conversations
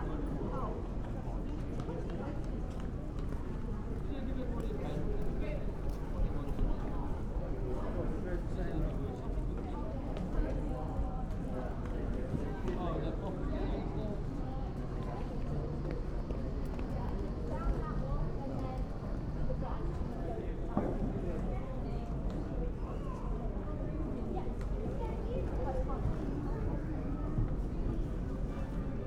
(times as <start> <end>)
3.3 13.4